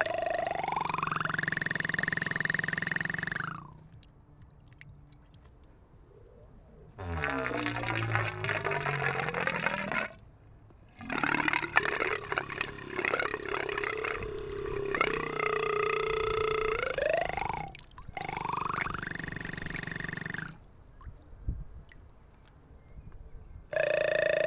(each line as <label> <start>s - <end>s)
water tap is speaking to us 7.1s - 10.2s